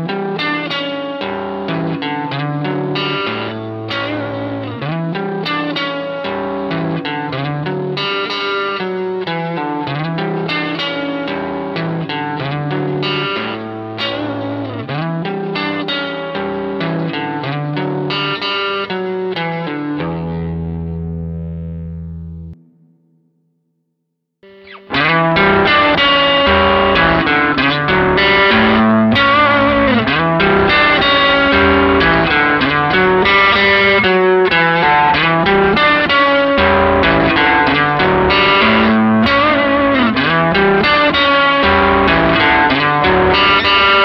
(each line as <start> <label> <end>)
24.5 telecaster 44.0